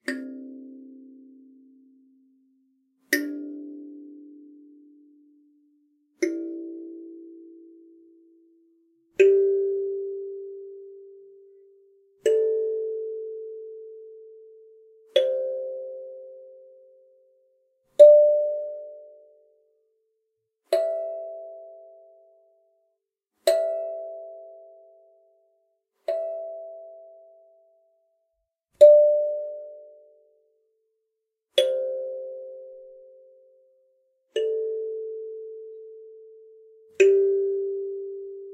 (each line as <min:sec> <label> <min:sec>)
0:00.0 kalimba 0:01.7
0:03.2 kalimba 0:05.0
0:06.2 kalimba 0:08.2
0:09.2 kalimba 0:17.0
0:31.6 kalimba 0:38.5